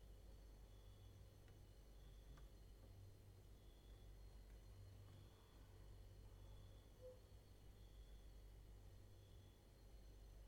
0.0s cricket outside 10.4s

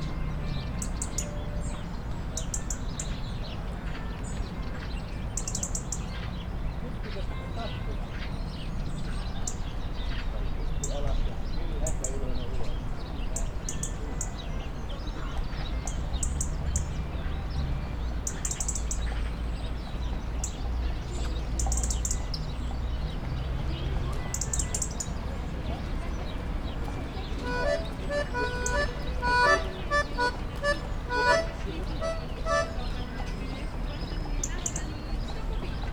25.9s child timidly playing sparse melody on an accordion 33.5s

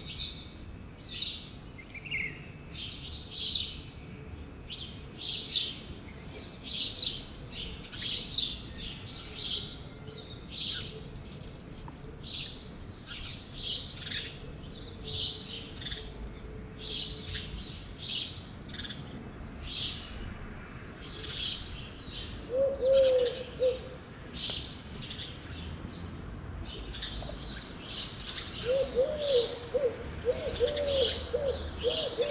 0.0s birds everywhere 32.3s

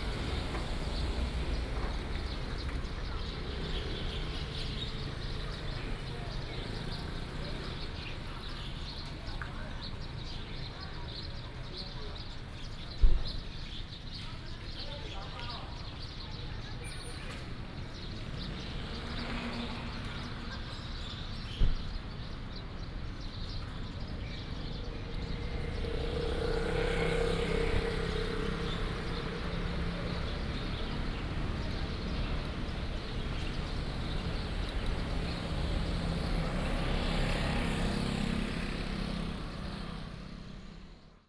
0.0s Traffic sound 10.8s
15.4s Traffic sound 41.2s

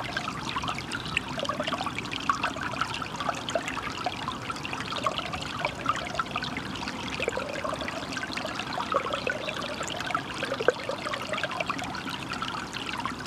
7.1s Babbling Brook 11.6s

